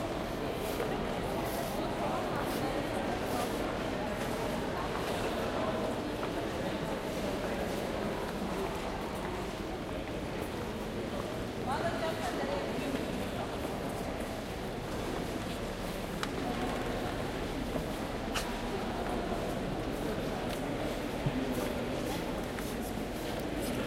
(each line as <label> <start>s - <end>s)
People in a large hall with a lot of reverberation 0.0s - 23.8s